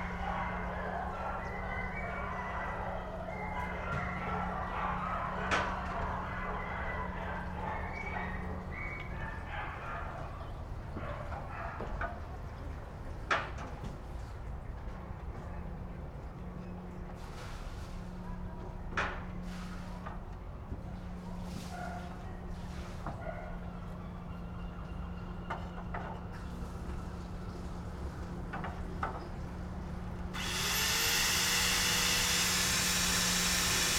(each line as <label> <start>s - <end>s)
workers on the roof of a house 0.0s - 33.9s